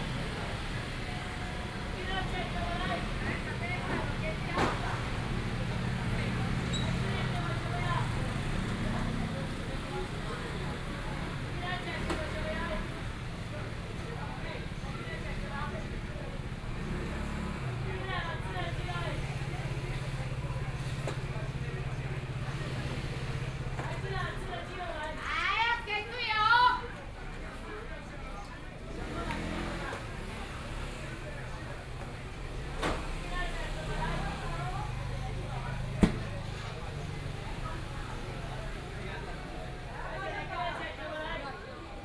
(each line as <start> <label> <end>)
0.0 traffic sounds 42.0